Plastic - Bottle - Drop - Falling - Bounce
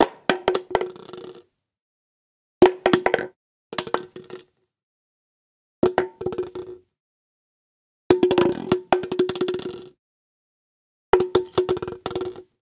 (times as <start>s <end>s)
0.0s 1.5s, 2.6s 4.5s, 8.1s 10.0s, 11.2s 12.5s